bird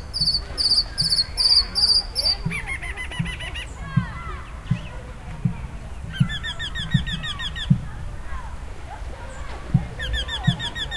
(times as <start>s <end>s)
0.0s 5.1s, 6.0s 7.8s, 9.3s 10.9s